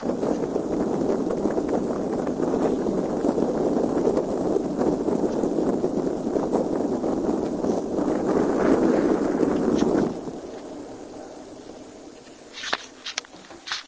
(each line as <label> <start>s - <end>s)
heater 0.0s - 13.8s